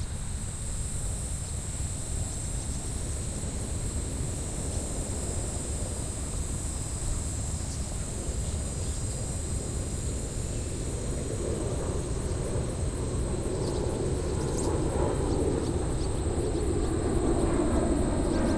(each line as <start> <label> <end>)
0.0 airplane 18.5
0.0 cicadas 18.5
0.0 crickets 18.5
0.0 helicopter 18.5